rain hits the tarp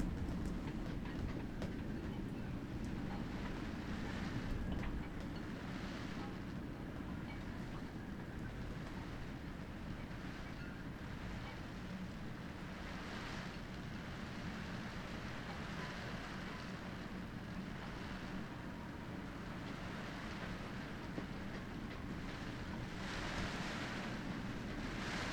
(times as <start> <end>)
0.0 0.6